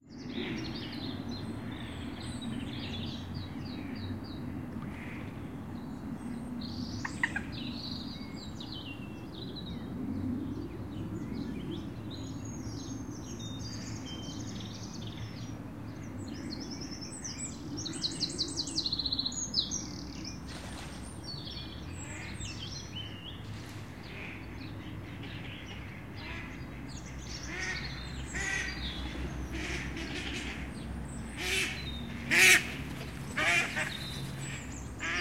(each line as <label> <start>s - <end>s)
birds in the background 0.0s - 35.2s
water 20.1s - 30.7s
waterfowl 27.5s - 30.7s
waterfowl 31.4s - 35.2s